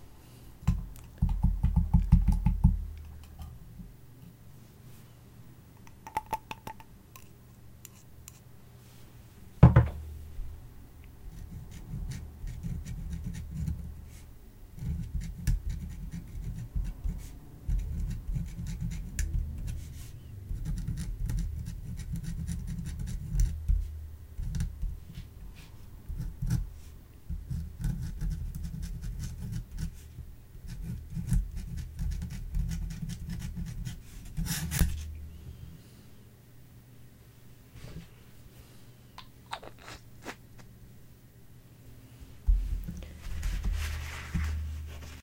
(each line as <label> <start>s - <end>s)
Writing on paper with a dip pen 11.3s - 14.2s
Writing on paper with a dip pen 14.8s - 25.3s
Writing on paper with a dip pen 26.1s - 26.7s
Writing on paper with a dip pen 27.3s - 35.1s
paper shuffling 42.5s - 45.2s